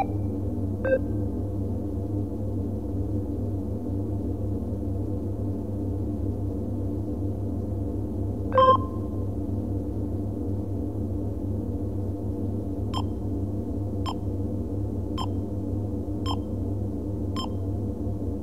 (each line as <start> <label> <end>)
0.0 spaceship interior 18.4
8.6 beeps 9.0